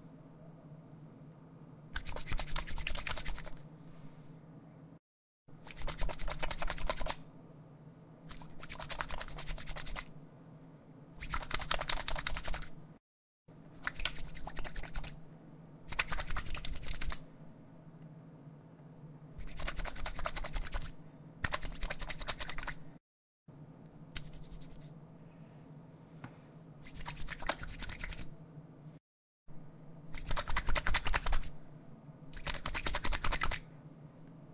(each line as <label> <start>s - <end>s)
wet hands being rubbed together very quickly 2.0s - 3.7s
wet hands being rubbed together very quickly 5.6s - 7.2s
wet hands being rubbed together very quickly 8.3s - 10.1s
wet hands being rubbed together very quickly 11.2s - 12.8s
wet hands being rubbed together very quickly 13.8s - 15.2s
wet hands being rubbed together very quickly 15.9s - 17.2s
wet hands being rubbed together very quickly 19.4s - 22.8s
wet hands being rubbed together very quickly 24.2s - 25.0s
wet hands being rubbed together very quickly 26.8s - 28.3s
wet hands being rubbed together very quickly 30.1s - 31.5s
wet hands being rubbed together very quickly 32.4s - 33.6s